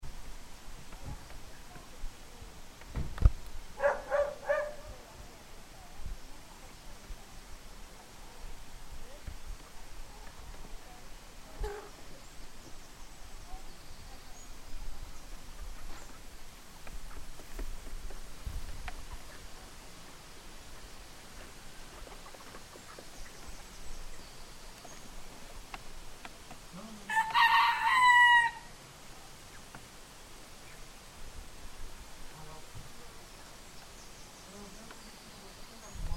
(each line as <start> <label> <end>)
0.0 river 36.1
3.7 animals 29.9